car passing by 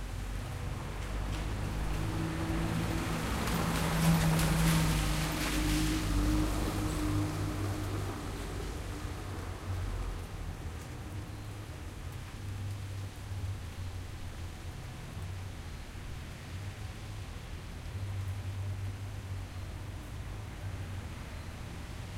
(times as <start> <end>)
0.2 11.1